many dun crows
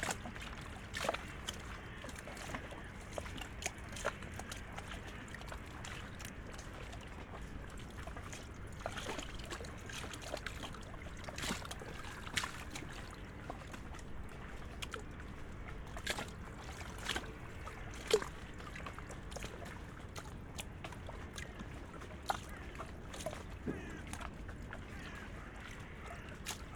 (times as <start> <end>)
23.6 24.2, 24.9 26.4